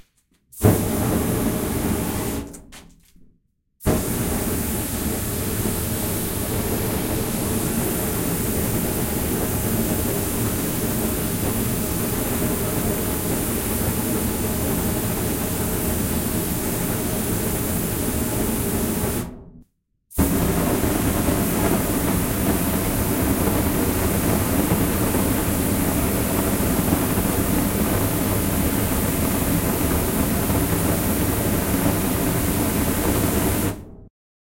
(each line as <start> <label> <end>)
3.9 constant spray fire 19.3
20.2 constant spray fire 33.8